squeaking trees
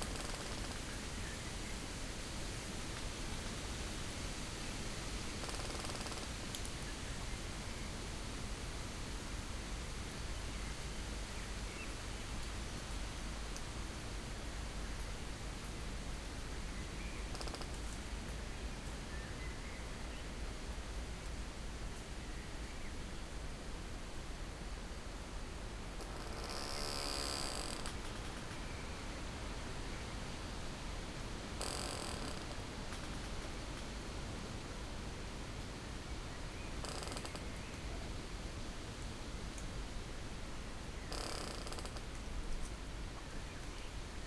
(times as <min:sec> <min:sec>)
0:31.6 0:33.4